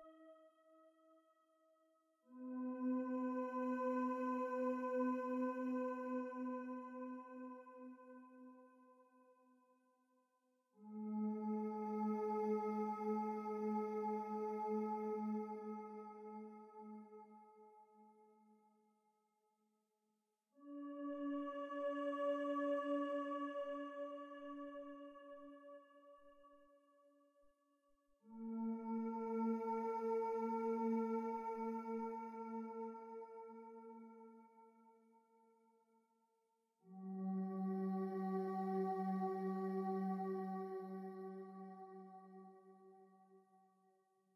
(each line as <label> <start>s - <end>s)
synthesizer 0.0s - 9.8s
synthesizer 10.6s - 18.4s
synthesizer 20.6s - 27.1s
synthesizer 28.2s - 35.4s
synthesizer 36.8s - 43.6s